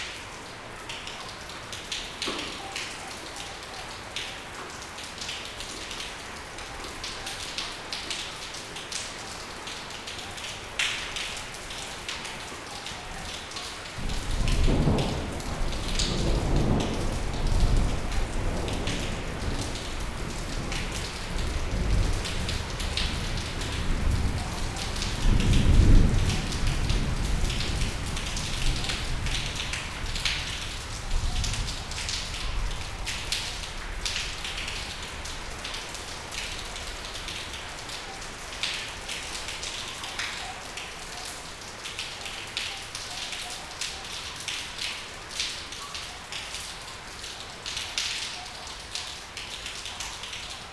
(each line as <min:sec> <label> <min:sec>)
0:00.0 rain 0:50.7
0:14.0 thunder 0:30.7